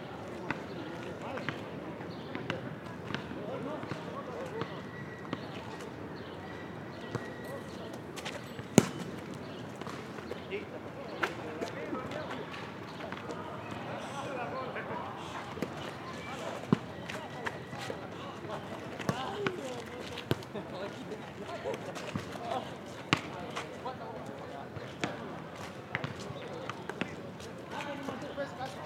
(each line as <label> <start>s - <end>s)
volleyball match 7.0s - 14.1s
volleyball match 15.4s - 20.7s
volleyball match 21.6s - 23.7s